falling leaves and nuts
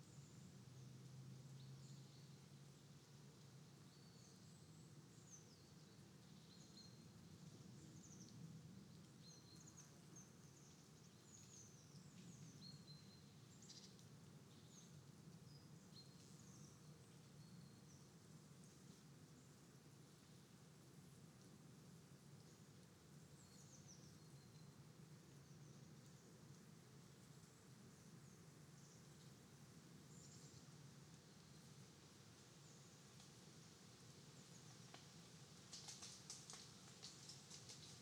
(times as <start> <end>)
34.8 38.0